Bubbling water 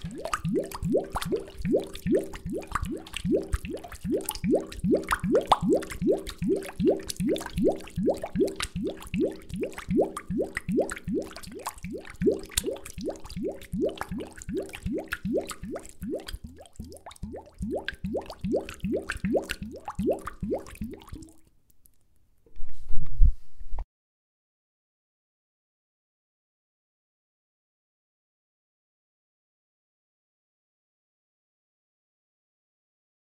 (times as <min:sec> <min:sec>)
0:00.0 0:21.4